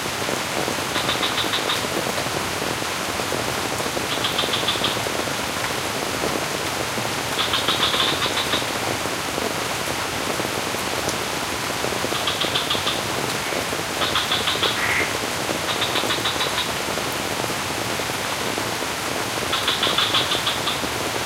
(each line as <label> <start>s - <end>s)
rain falls over the sculpted rice terraces 0.0s - 21.2s
frog 0.9s - 1.9s
frog 4.1s - 5.1s
frog 7.3s - 8.8s
frog 12.1s - 16.8s
frog 19.5s - 20.9s